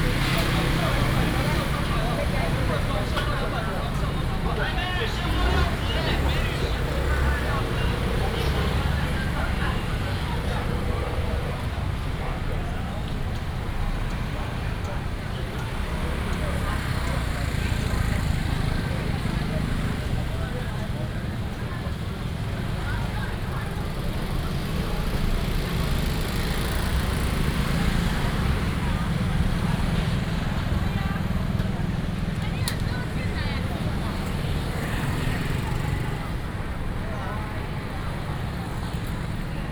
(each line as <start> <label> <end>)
0.0 Walking in the traditional market area 39.7
0.0 traffic sound 39.7
0.0 vendors peddling 39.7